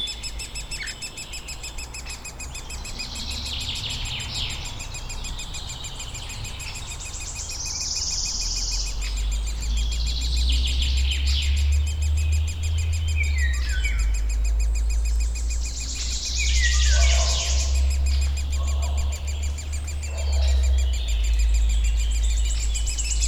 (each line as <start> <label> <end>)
0.0 bird activity 23.2
0.0 low freq drone of local traffic 23.2
0.0 woodpecker chicks 23.2